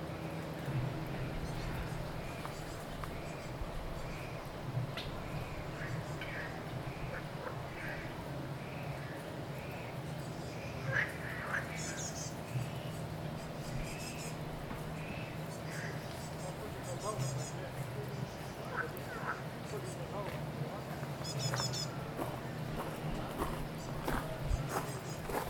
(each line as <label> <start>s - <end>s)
frogs 5.2s - 12.7s
frogs 18.2s - 20.0s